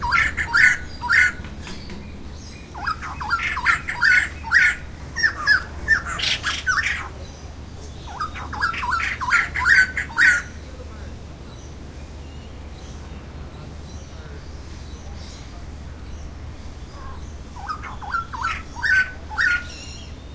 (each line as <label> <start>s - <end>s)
Calls from a pair of White-crested Laughing Thrushes 0.0s - 10.8s
Calls from a pair of White-crested Laughing Thrushes 13.9s - 20.3s